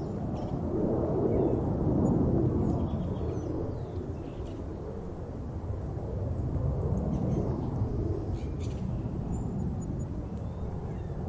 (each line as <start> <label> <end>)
0.0 wind picked up a LOT 11.2
7.1 birds 11.2